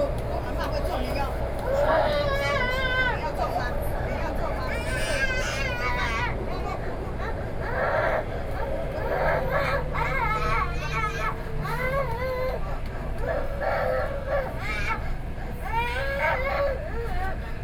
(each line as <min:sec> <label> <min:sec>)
0:04.6 Crying child 0:17.4